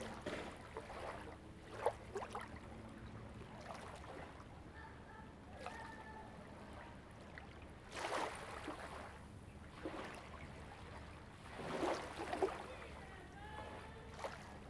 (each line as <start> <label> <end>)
7.9 Waves and tides 14.6